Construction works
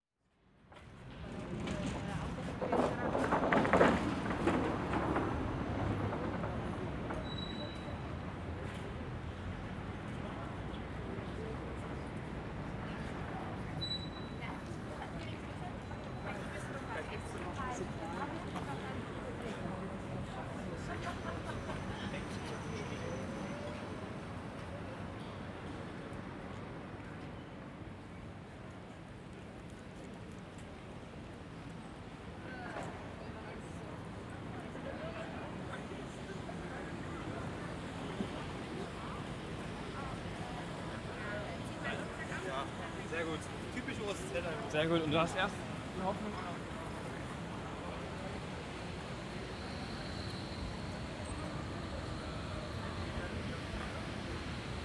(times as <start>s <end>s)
0.7s 9.3s